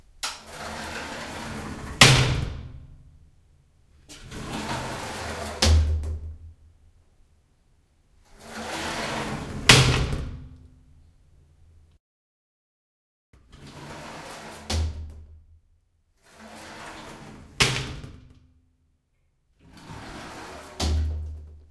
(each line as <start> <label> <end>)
19.6 door shower slide open close glass plastic slam rattle 21.6